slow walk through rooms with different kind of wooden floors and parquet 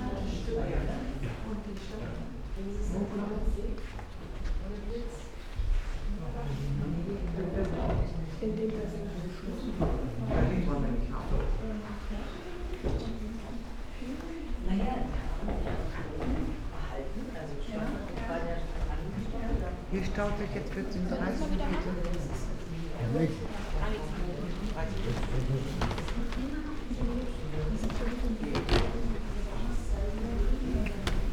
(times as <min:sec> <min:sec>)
0:01.1 0:10.4, 0:21.6 0:31.3